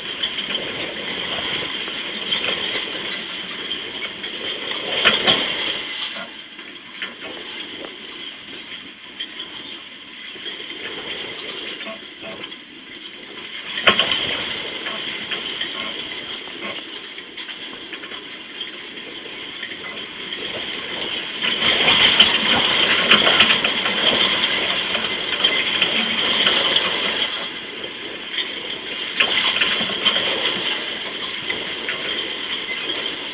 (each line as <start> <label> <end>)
19.8 Galvanised wire stock fencing in a gale 28.3